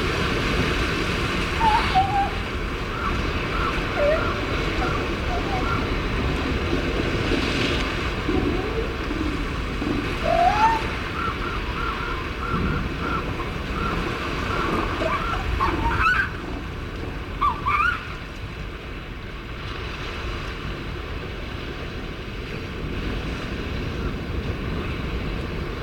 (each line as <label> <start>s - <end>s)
elephant seal mothers and pups 0.5s - 16.7s
elephant seal mothers and pups 17.3s - 18.2s